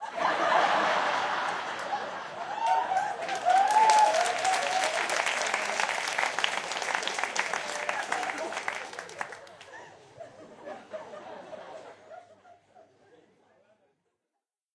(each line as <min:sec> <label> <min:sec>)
0:00.0 laugh 0:03.5
0:01.0 applause 0:09.8
0:07.5 laugh 0:13.9